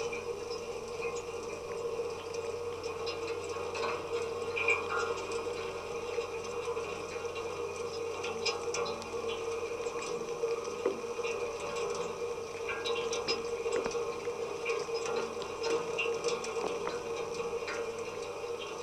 0.0s rain on church lightning rod 18.8s

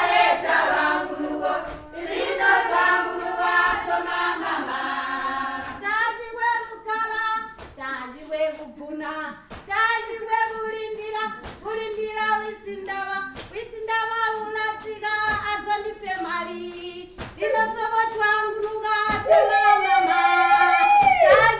0.0s thank-you song 21.5s

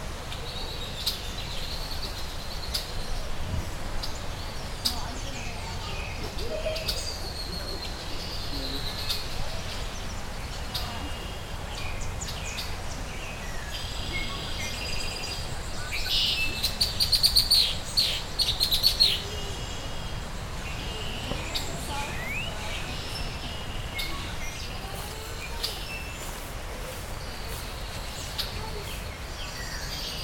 0.0s red-winged blackbirds 30.2s
0.0s warblers 30.2s

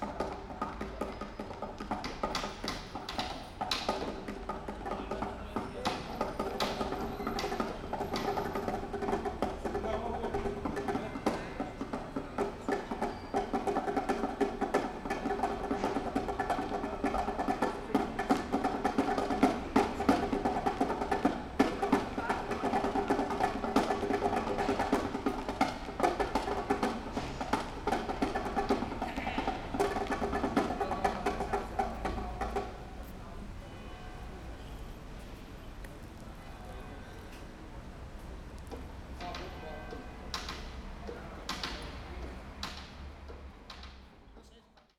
0.0s guys drumming on a metal boxes/seats/benches 33.0s
39.1s guys drumming on a metal boxes/seats/benches 44.0s

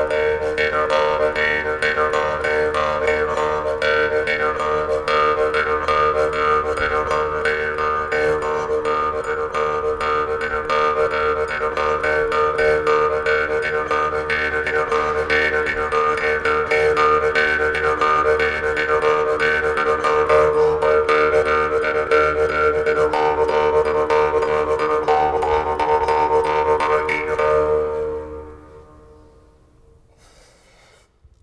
0.0s Jew's Harp in a church 30.2s

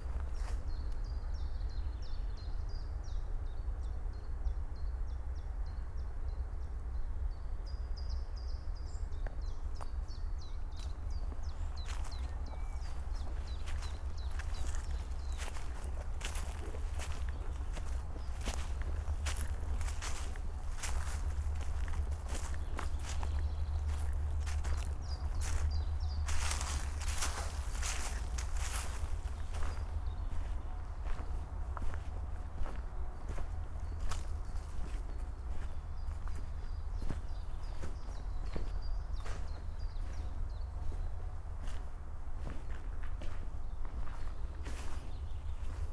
10.8s slow walk 45.9s

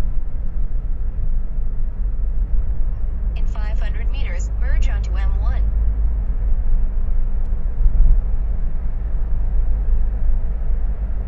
0.0s drive through the Sydney Harbour Tunnel 11.2s

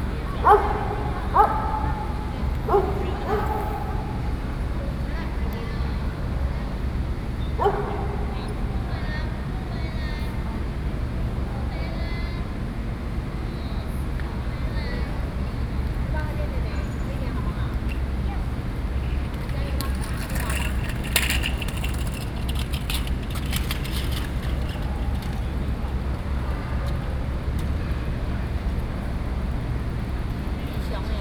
0.0s Traffic Sound 31.2s
0.4s Dogs barking 4.3s
7.6s Dogs barking 8.4s

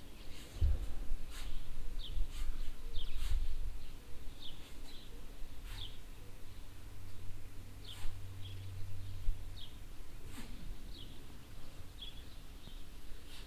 0.0s working noise from a nearby barn yard 13.4s

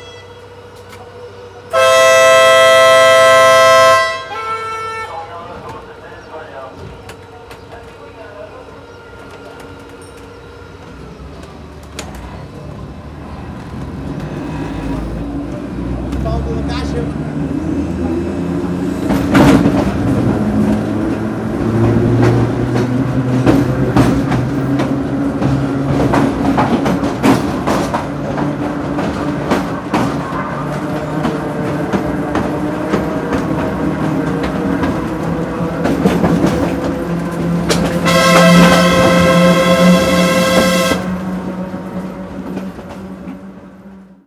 0.0s Rail winds 44.2s

